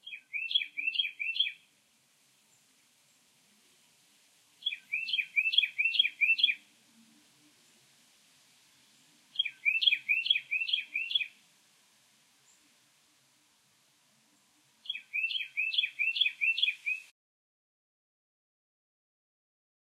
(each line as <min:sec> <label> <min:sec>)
0:00.0 bird tweets 0:01.7
0:04.6 bird tweets 0:06.6
0:08.9 bird tweets 0:11.4
0:14.4 bird tweets 0:17.1